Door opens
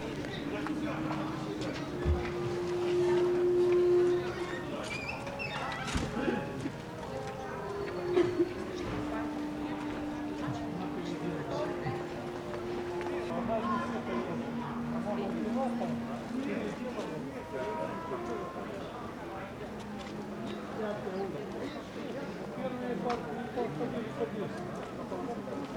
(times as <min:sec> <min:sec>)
0:04.4 0:06.3